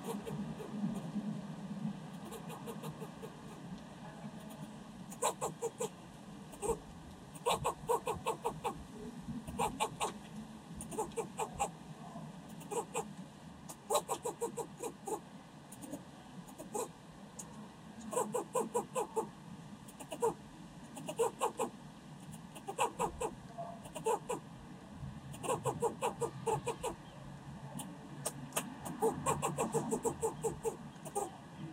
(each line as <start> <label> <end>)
0.0 Barking Squirrel 1.1
2.1 Barking Squirrel 3.7
4.4 Barking Squirrel 6.8
7.4 Barking Squirrel 8.8
9.5 Barking Squirrel 10.2
10.8 Barking Squirrel 11.8
12.5 Barking Squirrel 13.1
13.7 Barking Squirrel 17.0
18.1 Barking Squirrel 19.3
19.9 Barking Squirrel 20.4
21.0 Barking Squirrel 24.4
25.3 Barking Squirrel 27.1
27.8 Barking Squirrel 31.4